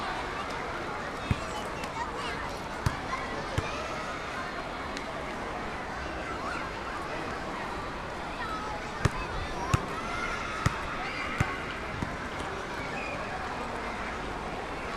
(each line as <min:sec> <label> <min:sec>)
0:00.0 people chatting 0:14.9